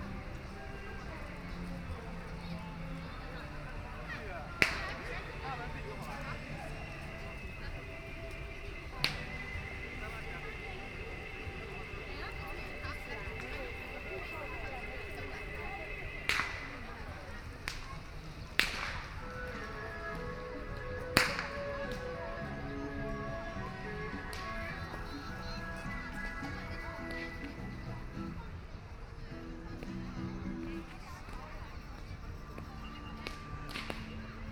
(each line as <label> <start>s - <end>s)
Playing rope swing 0.0s - 28.4s
A group of people 0.0s - 34.5s